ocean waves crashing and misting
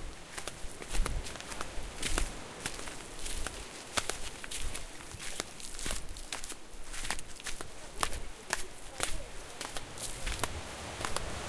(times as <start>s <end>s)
0.0s 5.6s, 8.2s 11.4s